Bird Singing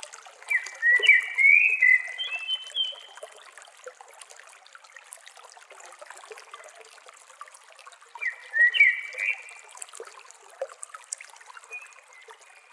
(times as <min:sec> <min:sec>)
0:00.5 0:03.1, 0:08.2 0:09.5